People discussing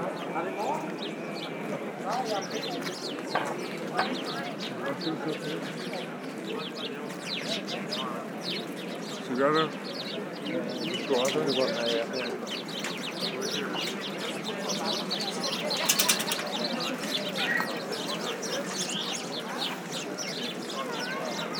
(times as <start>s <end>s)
13.4s 21.2s